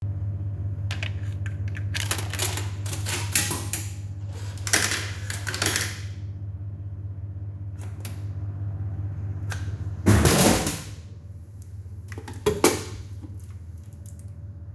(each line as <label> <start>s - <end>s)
noise from the machine's interior fridge 0.0s - 14.7s
Money is inserted 0.9s - 6.2s